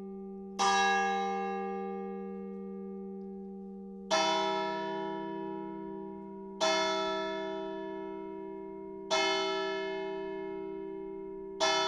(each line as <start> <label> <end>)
0.0 Church Bell 11.8